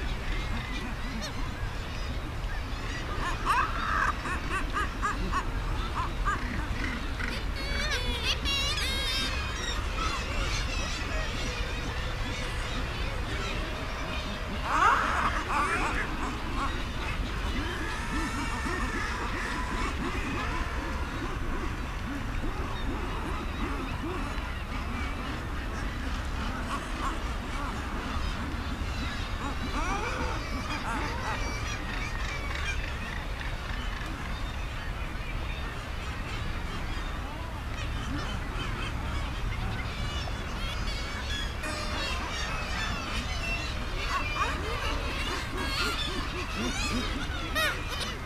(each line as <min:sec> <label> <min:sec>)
0:00.0 kittiwake 0:48.2
0:00.0 guillemots calling on the ledges 0:35.0
0:35.8 guillemots calling on the ledges 0:48.2